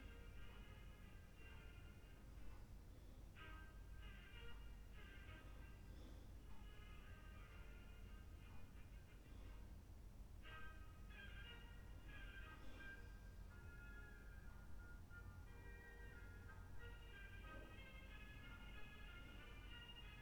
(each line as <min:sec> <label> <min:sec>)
0:02.2 room neighbour's breath 0:07.8
0:08.4 room neighbour's breath 0:10.8
0:11.5 room neighbour's breath 0:14.2
0:15.5 room neighbour's breath 0:20.0